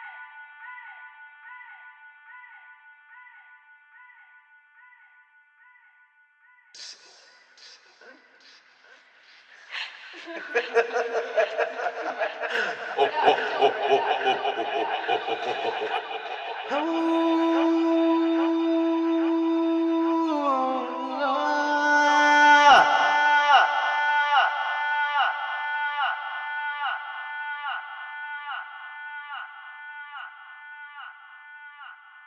9.4s Voice doing a long tonal draw 32.2s

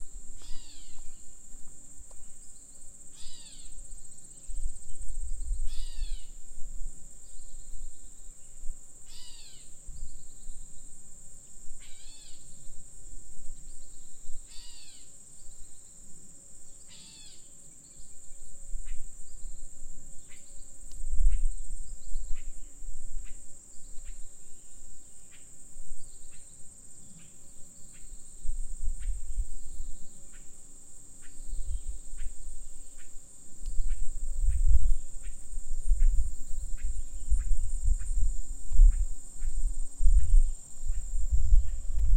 0.0s ambient crickets 42.1s

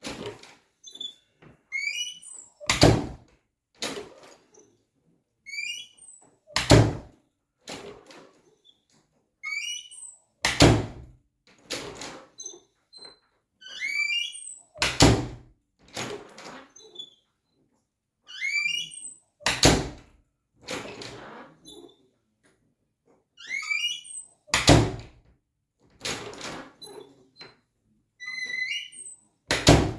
2.7s master bathroom door opening and closing 3.2s
6.6s master bathroom door opening and closing 7.1s
10.4s master bathroom door opening and closing 11.1s
13.8s master bathroom door opening and closing 15.4s
18.4s master bathroom door opening and closing 20.1s
23.5s master bathroom door opening and closing 25.2s
28.4s master bathroom door opening and closing 29.9s

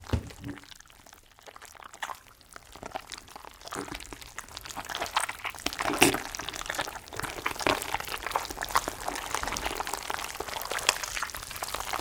0.0s Pumpkin Guts Squish 12.0s

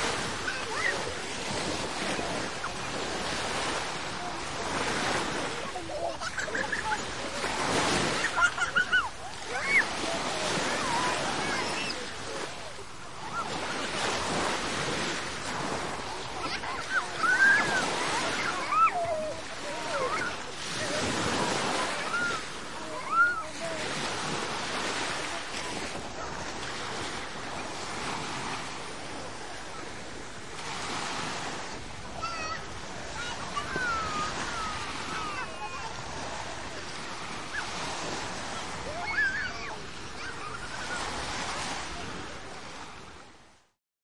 0.0s waves on the shore 43.8s
0.0s children playing 43.2s

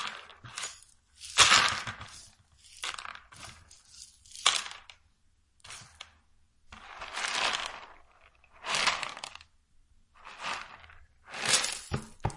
0.0s beans hit the plastic 5.0s
0.0s Sweeping beans scattered on the floor onto a plastic dustpan 5.0s
5.6s Sweeping beans scattered on the floor onto a plastic dustpan 9.5s
10.2s Sweeping beans scattered on the floor onto a plastic dustpan 12.3s
10.4s beans hit the plastic 12.3s

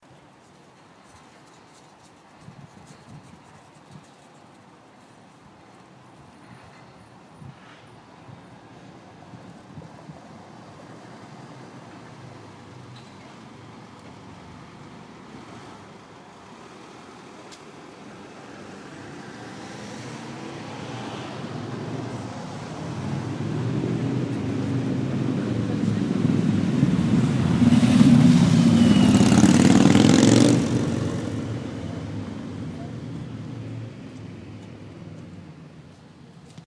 14.3s motorcycle passing on street 35.9s

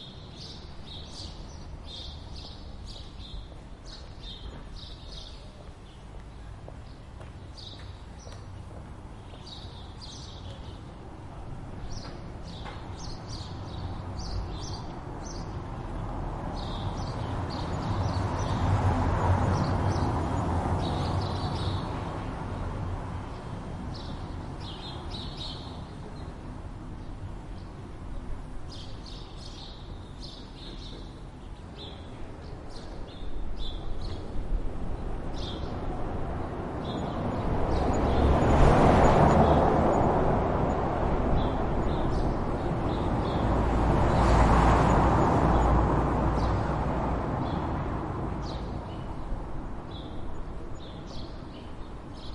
0.0s birds 47.6s
0.0s traffic 52.3s

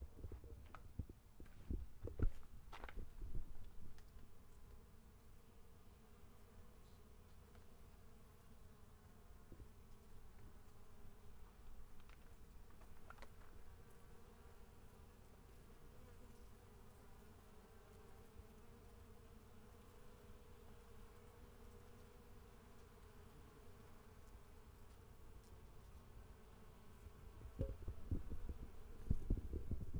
4.6s swarm of wasps 29.9s

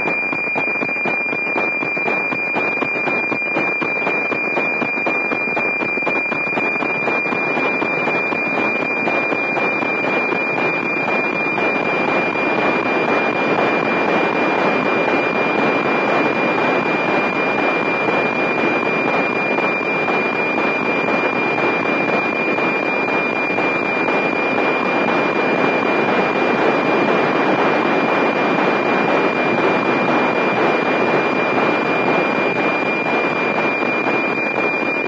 0.0s weather map digital data transmission 35.0s

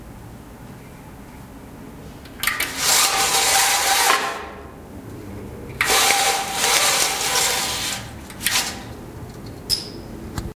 2.3s Closing bathroom blinds 4.6s
5.8s Closing bathroom blinds 9.0s

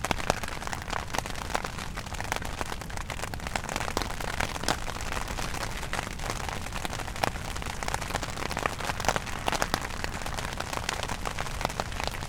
0.0s Rain on tent 12.2s

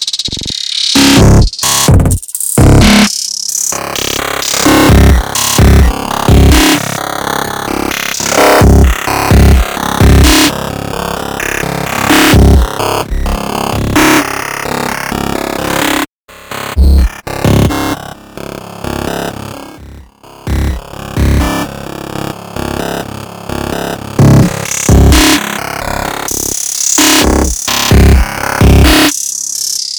0.4s Drum loop 10.6s
11.4s Drum loop 14.3s
24.2s Drum loop 25.6s
26.3s Drum loop 29.8s

